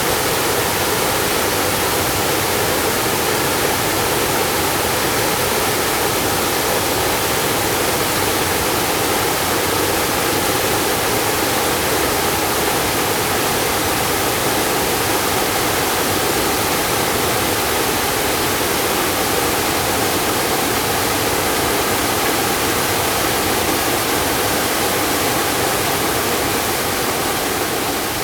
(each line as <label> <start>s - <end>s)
Waterfalls 0.0s - 28.2s